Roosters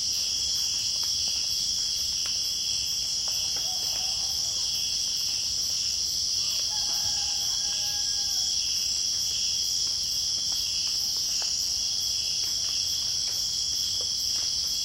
0:03.3 0:05.0, 0:06.4 0:08.6

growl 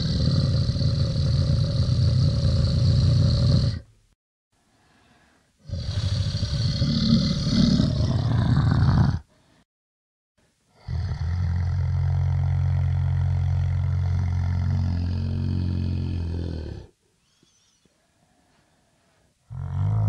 0:00.0 0:03.9, 0:05.6 0:09.3, 0:10.7 0:17.0, 0:19.5 0:20.0

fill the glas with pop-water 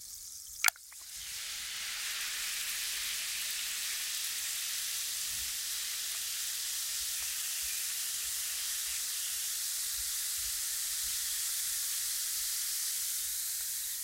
0:00.5 0:01.1

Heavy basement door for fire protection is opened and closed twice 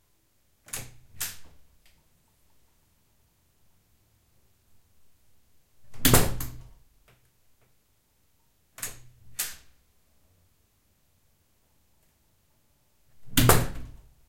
0:00.7 0:01.6, 0:05.8 0:06.8, 0:13.2 0:14.1

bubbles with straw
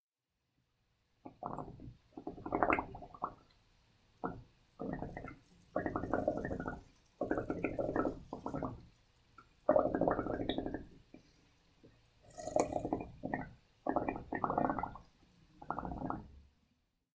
0:01.2 0:03.4, 0:04.2 0:11.2, 0:12.2 0:16.3

